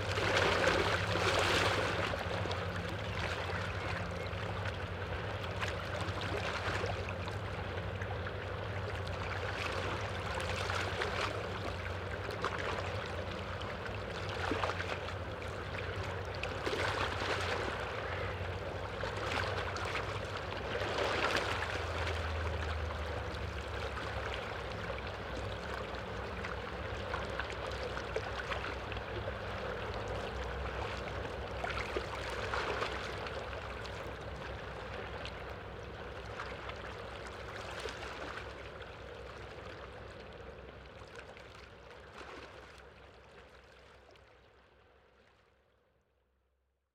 0.0s humming engine of a barge passing 45.7s

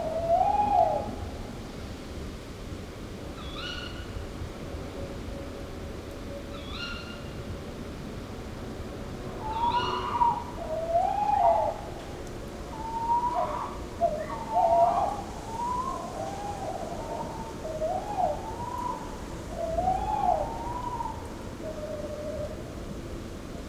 9.4s Owl (Waldkauz) couple (male/fem) 12.0s
12.7s Owl (Waldkauz) couple (male/fem) 22.6s

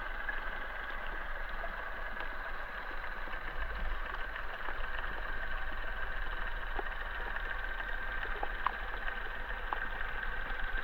0.0s arriving boat through hydrophone 10.8s

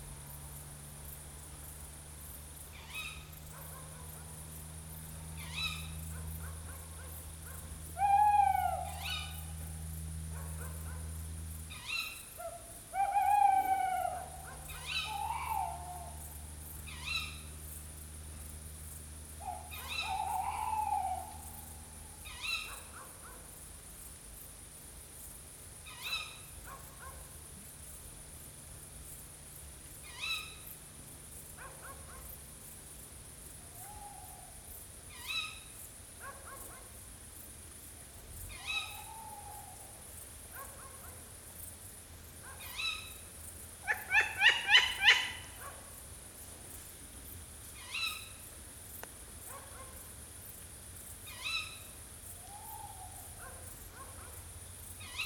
5.3s Sonic ballet of tawny owls 17.6s
19.4s Sonic ballet of tawny owls 23.2s
33.6s Sonic ballet of tawny owls 35.7s
38.5s Sonic ballet of tawny owls 40.1s
43.8s Sonic ballet of tawny owls 45.6s
51.3s Sonic ballet of tawny owls 53.6s

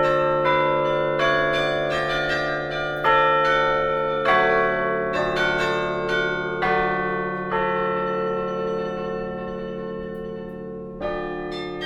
0.0s playing at the Tournai carillon 11.8s

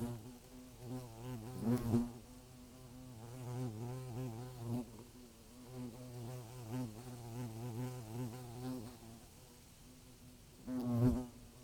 0.0s nest of european hornets in a tree 11.6s

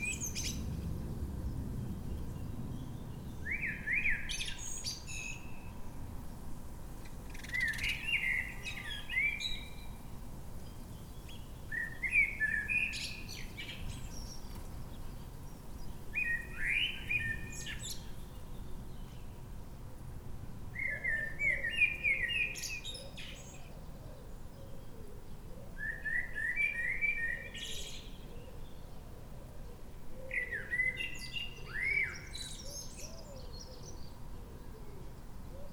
2.4s Blackbird singing 5.7s
7.3s Blackbird singing 10.0s
10.6s Blackbird singing 19.3s
20.8s Blackbird singing 25.0s
25.7s Blackbird singing 29.0s
30.2s Blackbird singing 35.0s

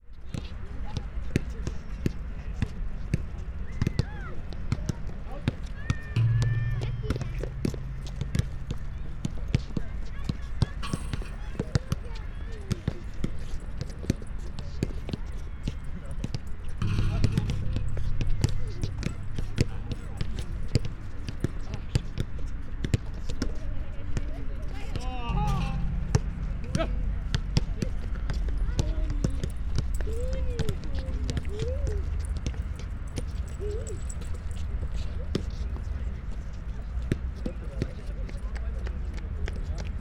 3.3s kids and parents playing basket ball 6.4s
6.2s ball hitting basket and bars 12.2s
9.6s kids and parents playing basket ball 18.0s
16.8s ball hitting basket and bars 22.0s
25.3s ball hitting basket and bars 31.4s
28.6s kids and parents playing basket ball 36.1s

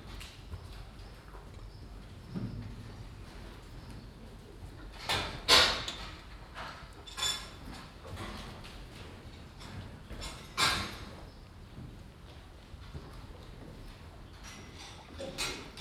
0.0s cows moving inside their boxes 15.8s

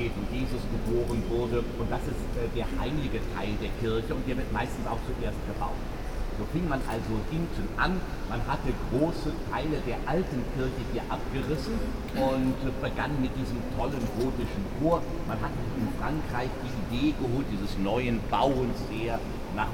0.0s tourist guide explaning historical details 19.7s

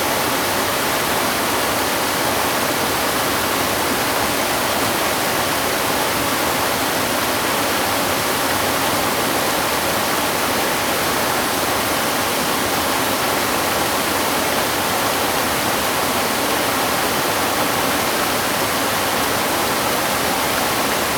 0.0s Waterfalls and rivers 21.1s

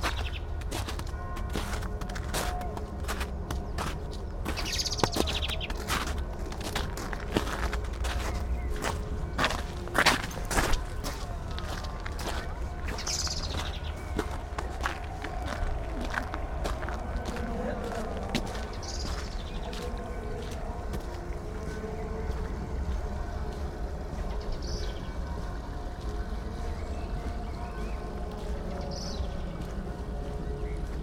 0.0s blackbird 17.8s
0.0s bells 31.0s
0.0s distant cheering 31.0s
0.0s snow 31.0s
0.0s steps 31.0s
17.0s spoken words 22.2s

